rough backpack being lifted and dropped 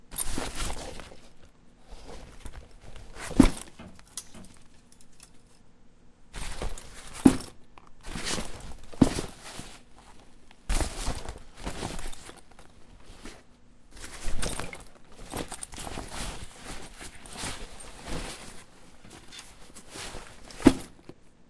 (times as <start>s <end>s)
0.1s 1.4s, 2.0s 4.0s, 6.4s 9.9s, 10.7s 13.4s, 14.0s 21.2s